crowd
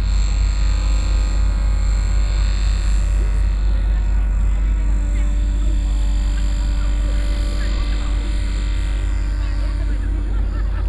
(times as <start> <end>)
2.3 10.8